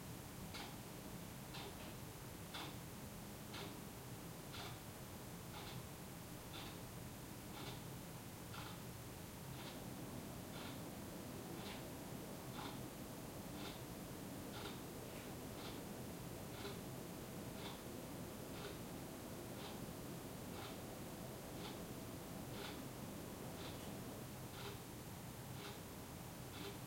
soft city noises 0.0 - 26.8
clock is ticking 0.5 - 0.8
clock is ticking 1.5 - 2.9
clock is ticking 3.5 - 3.8
clock is ticking 4.5 - 6.9
clock is ticking 7.5 - 8.9
clock is ticking 9.5 - 26.8

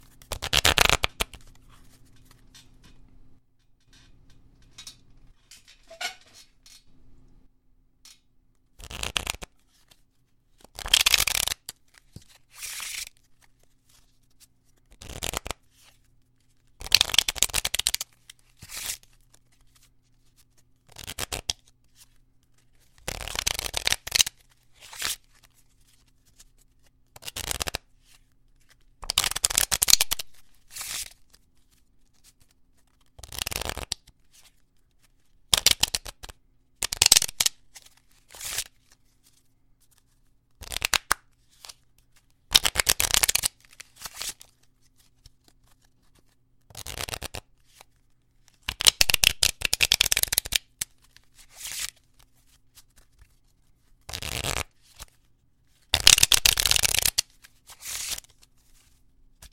riffling a deck of playing cards 0.0 - 2.6
squeaky chair 5.8 - 6.5
riffling a deck of playing cards 8.8 - 10.0
riffling a deck of playing cards 10.6 - 59.5

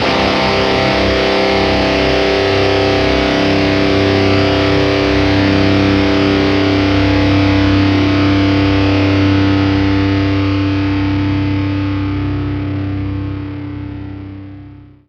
Power Chord Open 0.0 - 14.8

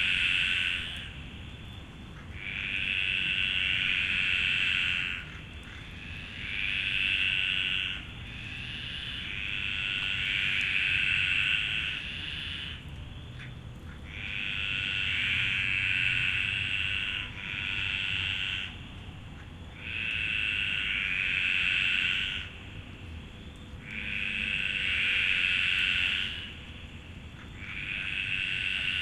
frogs 0.0 - 29.0

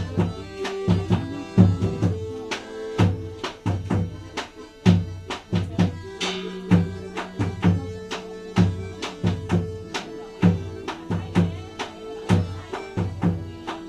drums 0.0 - 13.8
songs 0.0 - 13.8
gong 6.2 - 6.7

